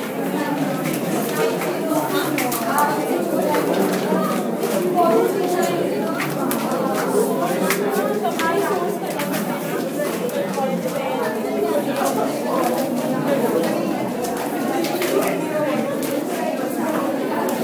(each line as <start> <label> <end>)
0.0 People Exiting and Dispersing from Movie Theatre 17.6